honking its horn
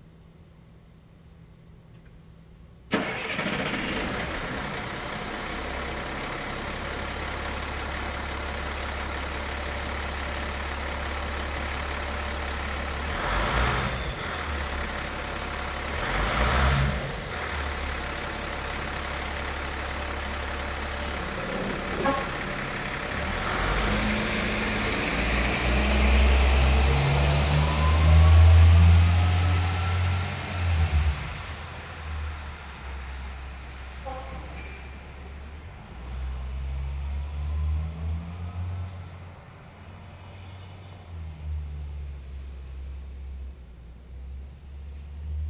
21.7 22.5, 34.0 34.7

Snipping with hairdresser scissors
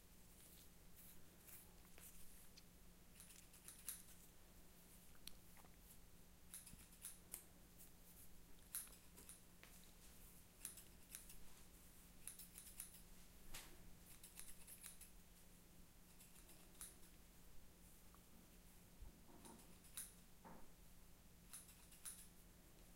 3.2 4.1, 6.5 7.4, 10.6 11.4, 12.2 13.1, 14.1 15.1, 16.1 17.1, 19.4 20.2, 21.5 22.3

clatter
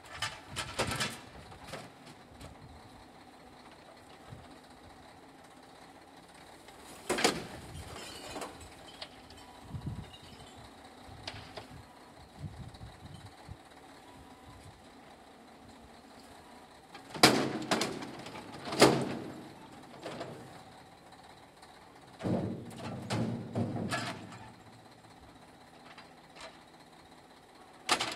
22.1 24.6

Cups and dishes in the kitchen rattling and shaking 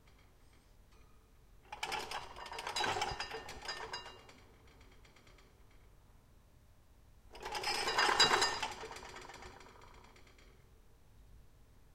1.7 4.4, 7.4 9.8

